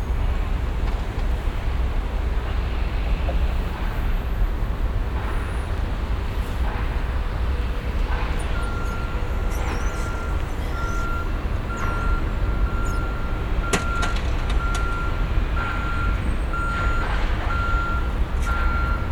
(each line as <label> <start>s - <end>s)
construction 0.0s - 19.1s
wind 0.0s - 19.1s
workers in a secured road 0.0s - 19.1s
beeping sound of a construction car driving backwards 6.5s - 19.1s